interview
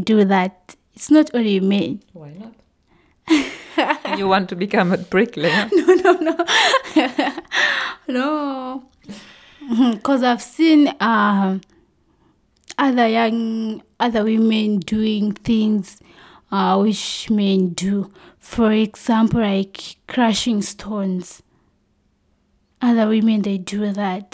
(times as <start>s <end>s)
3.7s 6.5s